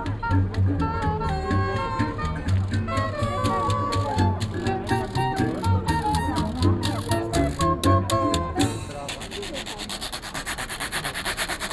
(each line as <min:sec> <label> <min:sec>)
0:00.0 jazz band 0:09.6